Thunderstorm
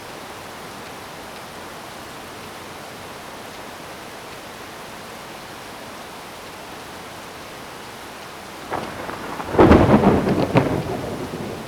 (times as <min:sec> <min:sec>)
0:08.6 0:11.6